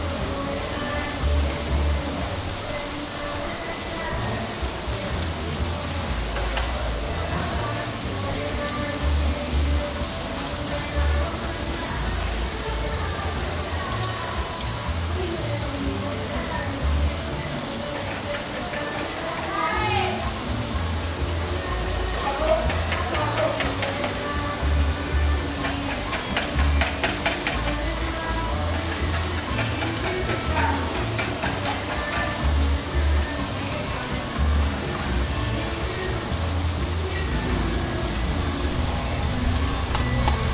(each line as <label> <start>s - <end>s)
Rain 0.0s - 40.5s
music 0.0s - 40.5s
people 0.2s - 36.3s
traffic 16.8s - 40.5s